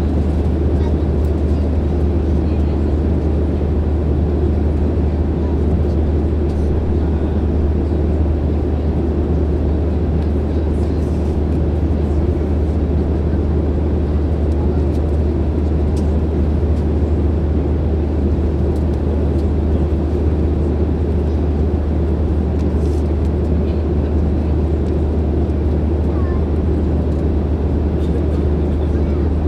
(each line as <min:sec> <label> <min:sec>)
0:00.0 737-800 cabin ambience 0:29.4